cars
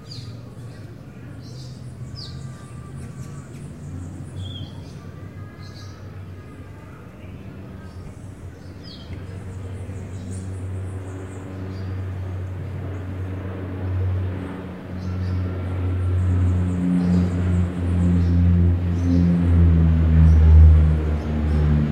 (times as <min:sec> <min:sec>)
0:16.0 0:21.9